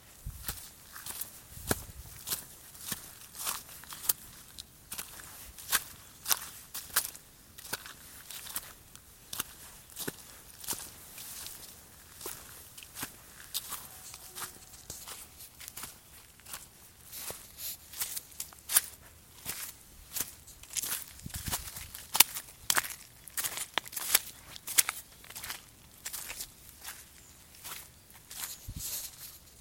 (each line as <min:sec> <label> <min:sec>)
0:00.1 Footsteps on a muddy path 0:29.6